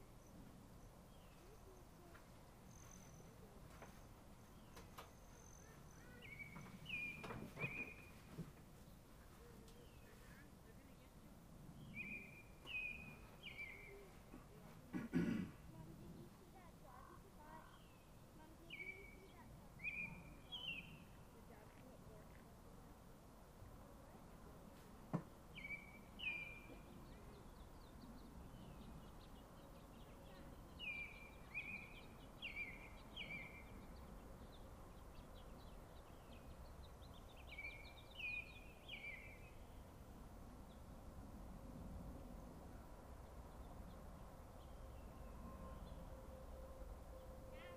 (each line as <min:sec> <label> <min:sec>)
0:00.0 evening birds 0:47.7